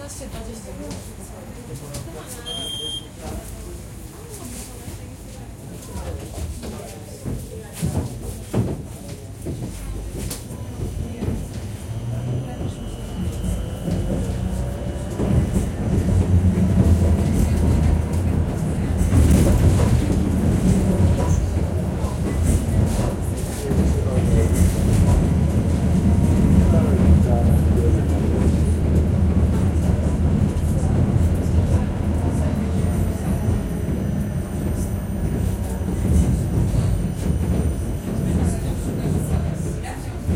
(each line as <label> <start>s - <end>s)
tram ride 0.0s - 40.3s